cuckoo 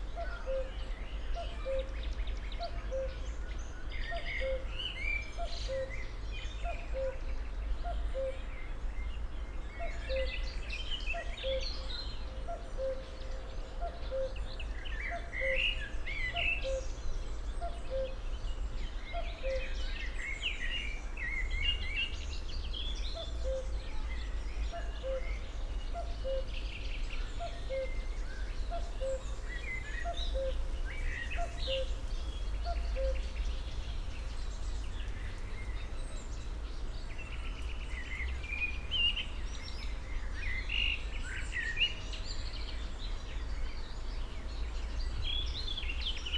8.1s 8.4s, 17.7s 18.2s, 24.8s 25.4s, 26.0s 26.6s, 27.4s 28.0s, 28.7s 29.4s, 30.0s 30.6s, 31.4s 31.9s, 32.6s 33.3s

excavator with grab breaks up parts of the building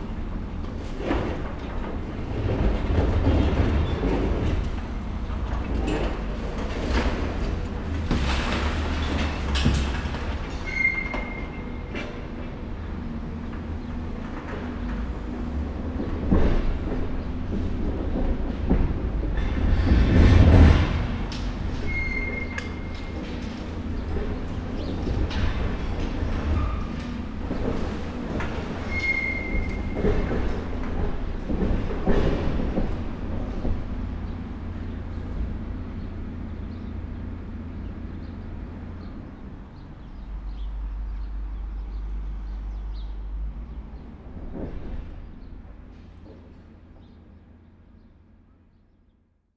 0.1s 12.5s, 16.0s 34.0s

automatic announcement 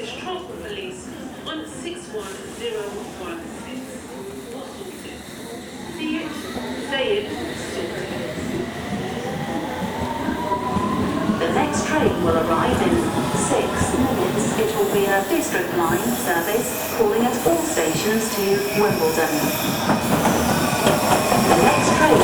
9.0s 19.8s

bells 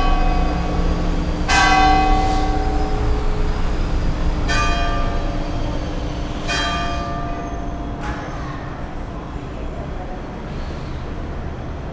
0.0s 9.0s

